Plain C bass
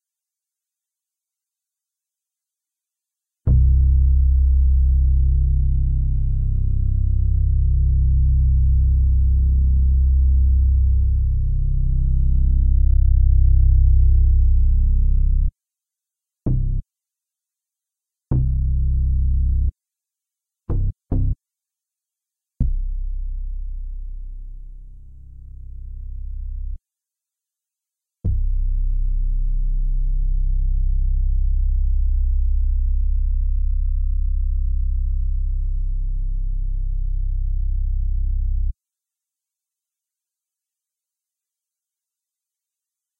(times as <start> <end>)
3.5 15.5, 16.5 16.8, 18.3 19.7, 20.7 21.4, 22.6 26.8, 28.2 38.8